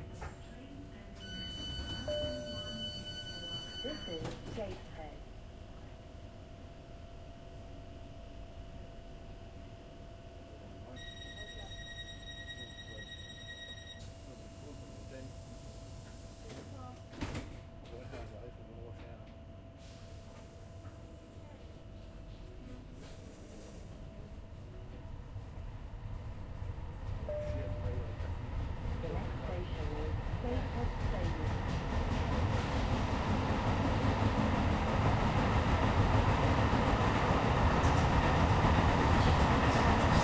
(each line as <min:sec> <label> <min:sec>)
0:00.0 train 0:40.2
0:23.0 other train passing 0:40.2